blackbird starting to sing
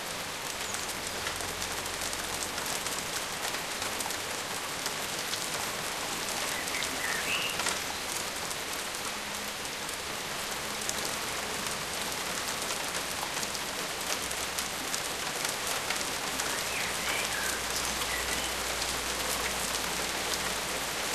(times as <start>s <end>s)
6.5s 7.6s